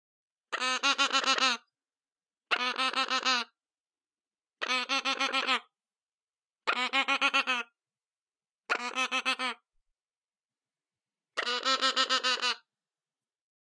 0.5s baby parrot 1.7s
2.5s baby parrot 3.6s
4.6s baby parrot 5.8s
6.6s baby parrot 7.8s
8.7s baby parrot 9.7s
11.3s baby parrot 12.7s

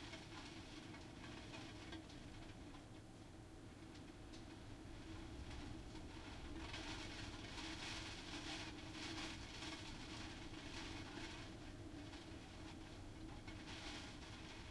0.0s Rain and storm from behind window 14.7s

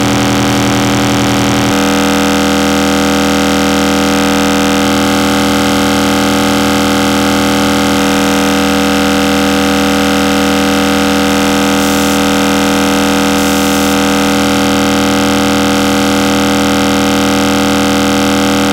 0.0s Synthesizer 18.7s

